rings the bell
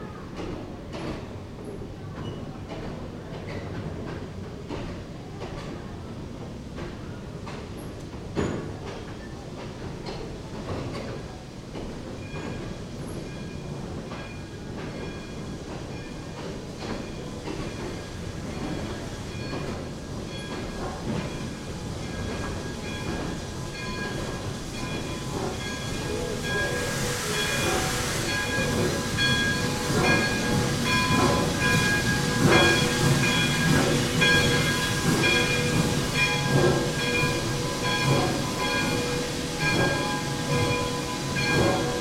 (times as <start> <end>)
23.8 42.0